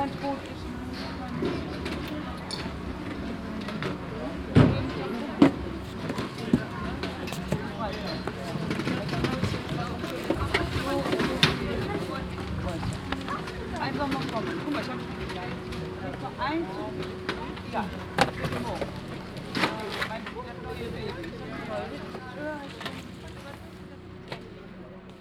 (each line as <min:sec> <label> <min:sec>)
0:00.0 people packing their stands 0:25.2